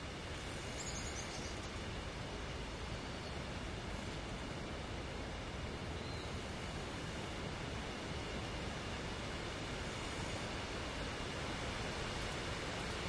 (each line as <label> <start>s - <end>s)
wind 0.0s - 13.0s
birds 0.6s - 1.9s